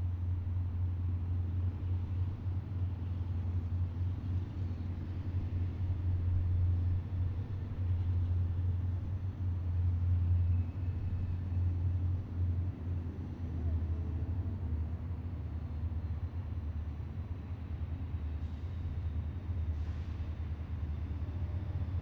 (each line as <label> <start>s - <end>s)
Freight Train Eastbound 0.0s - 22.0s